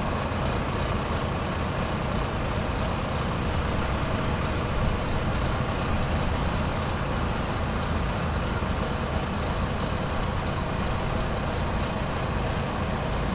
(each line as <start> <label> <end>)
0.0 Road Traffic 13.3
0.0 lorries 13.3
0.0 pedestrian crossing nearby that occasionally starts beeping 13.3